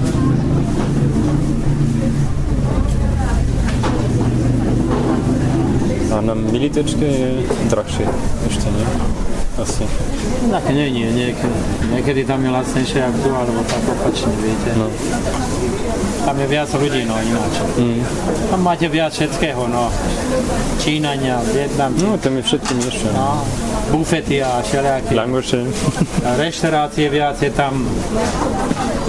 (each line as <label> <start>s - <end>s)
vendor explaining 0.0s - 29.0s